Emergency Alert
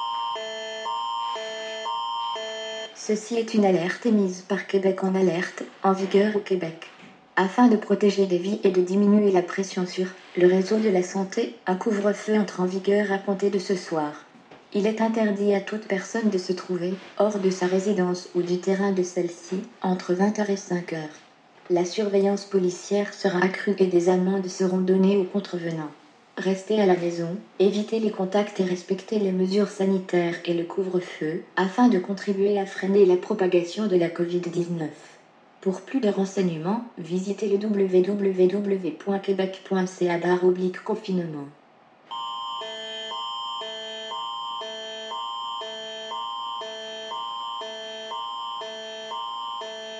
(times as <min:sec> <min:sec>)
0:00.0 0:03.3, 0:42.1 0:49.9